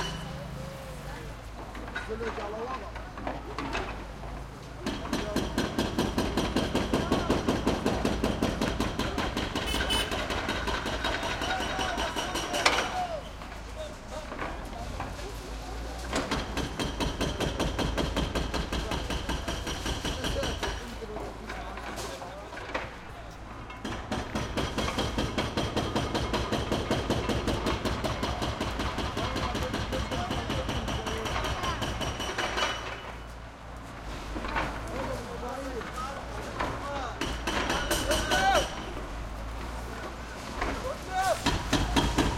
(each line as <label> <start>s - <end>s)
pile driver 40.6s - 42.3s